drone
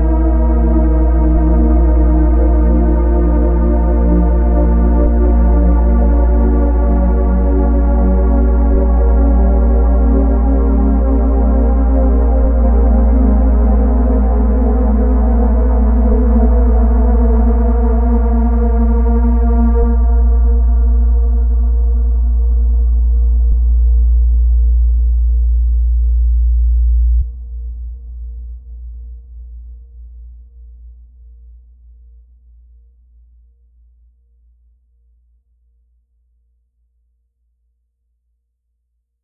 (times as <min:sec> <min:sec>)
0:00.0 0:27.5